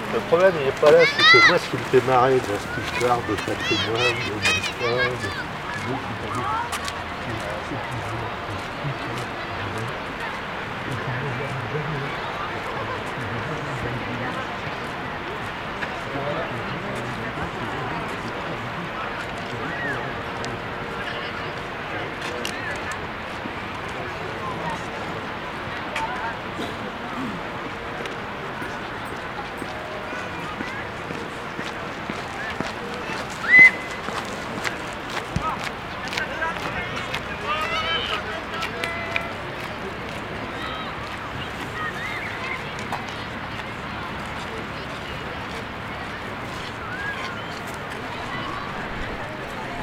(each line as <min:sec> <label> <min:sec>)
0:00.0 people on the beach 0:49.8